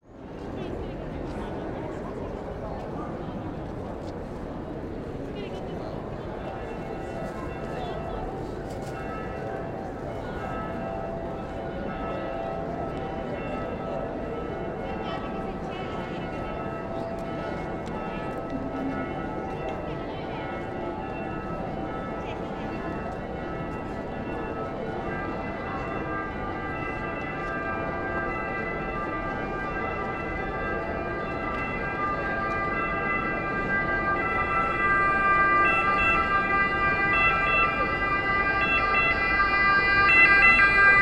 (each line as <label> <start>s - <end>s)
people passing by 0.1s - 41.0s
bells ringing 5.8s - 41.0s
Police alarm 31.5s - 41.0s